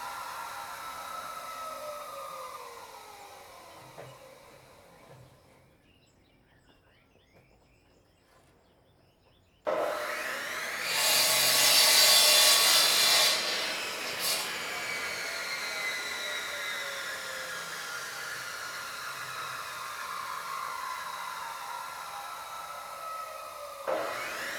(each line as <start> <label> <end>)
9.7 Saw Bamboo 24.5